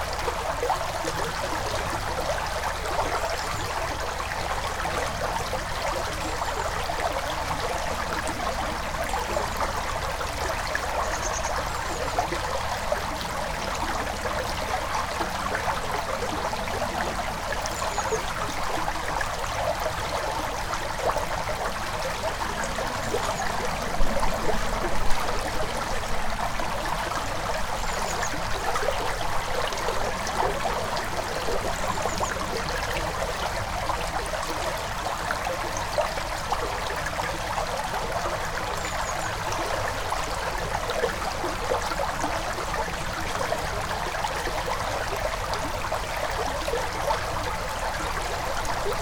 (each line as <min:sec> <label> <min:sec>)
0:00.0 river, flowing quietly 0:49.0